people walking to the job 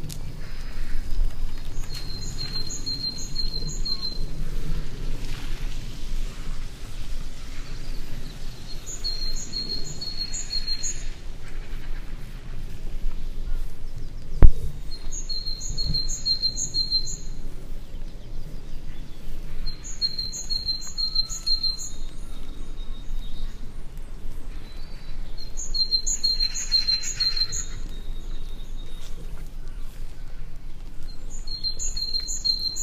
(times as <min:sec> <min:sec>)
0:27.8 0:32.6